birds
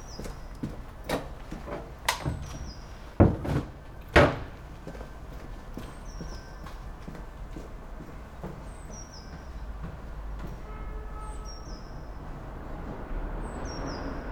0.0 0.8, 2.2 3.1, 5.8 7.1, 8.4 9.8

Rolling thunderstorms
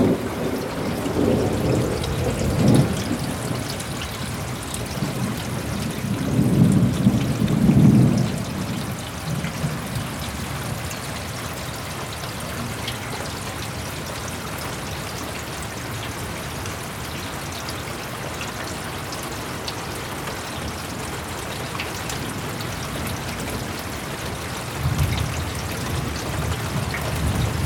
0.0 11.4, 24.6 27.6

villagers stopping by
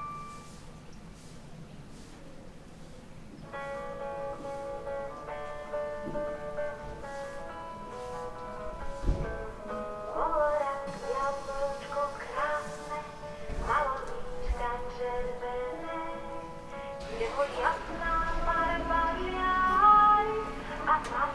16.4 21.3

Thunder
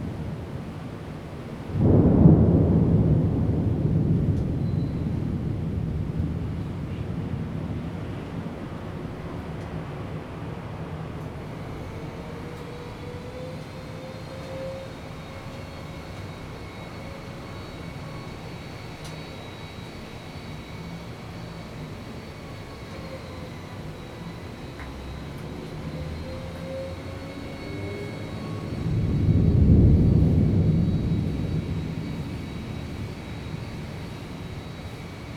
1.6 9.5, 26.5 35.3

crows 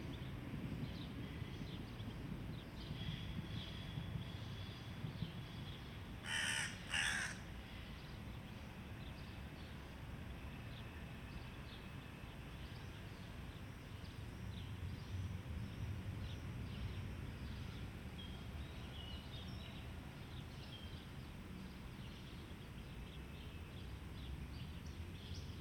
6.2 7.5

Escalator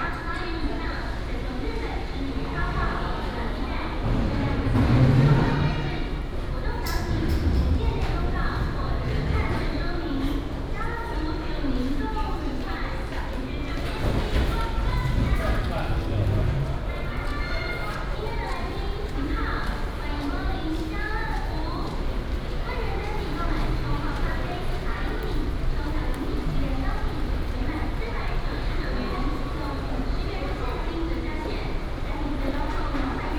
4.0 10.4, 13.9 18.0

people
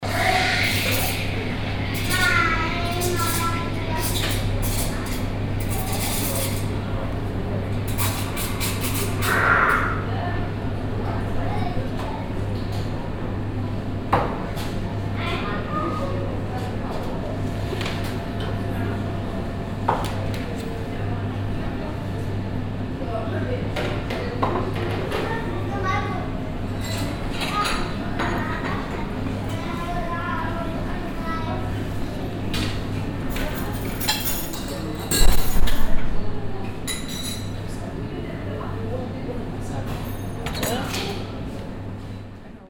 0.0 19.4

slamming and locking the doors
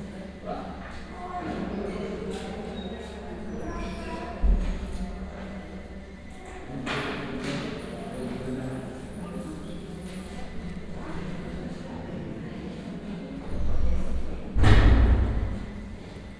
14.6 15.6

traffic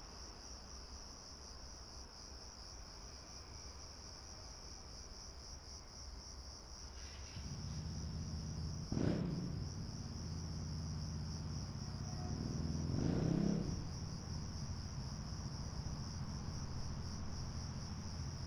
6.9 18.4

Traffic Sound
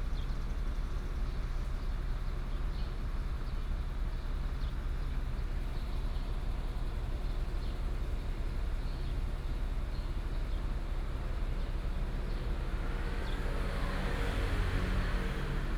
12.0 15.7

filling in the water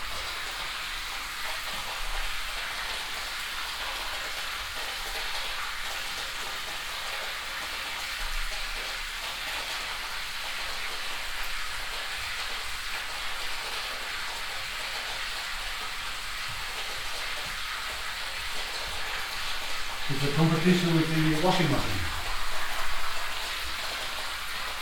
14.3 24.8

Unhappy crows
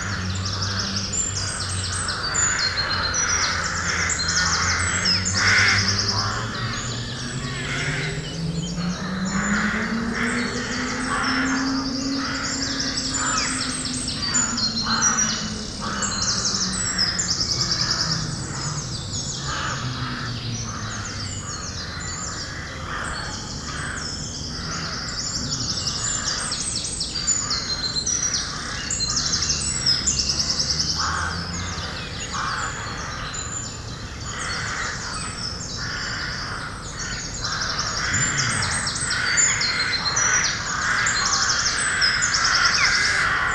0.0 8.1, 8.8 13.7, 30.9 33.5, 34.3 43.5

